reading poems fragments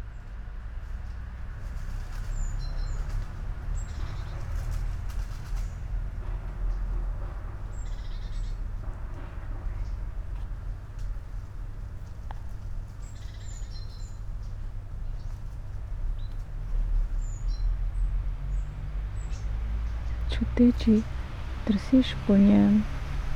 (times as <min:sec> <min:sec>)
0:19.2 0:23.2